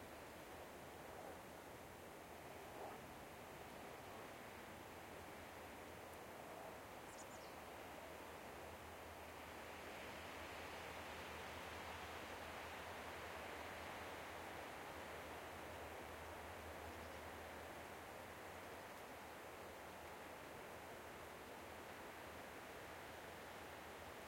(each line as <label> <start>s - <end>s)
light wind in nearby coniferous trees 0.0s - 24.2s